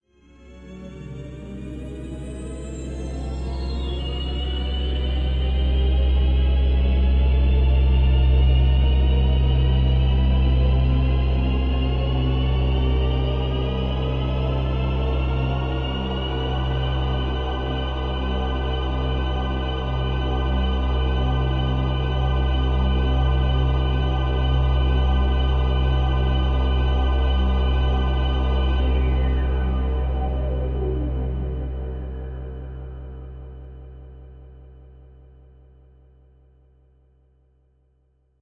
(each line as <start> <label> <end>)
0.6 ethereal pad 35.8